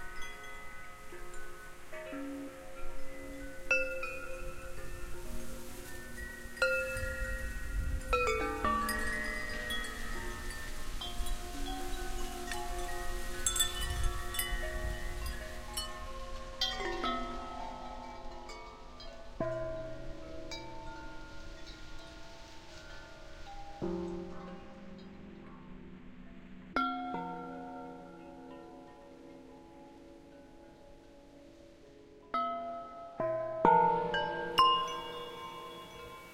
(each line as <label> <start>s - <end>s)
glass marimba 0.0s - 26.0s
metal windchimes 0.0s - 36.3s
glass marimba 26.7s - 36.3s